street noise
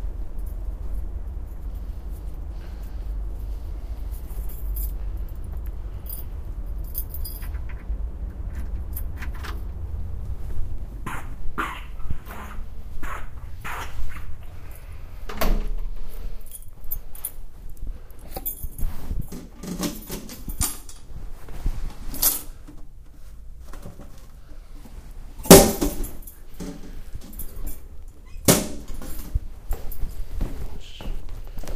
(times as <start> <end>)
0.0 15.2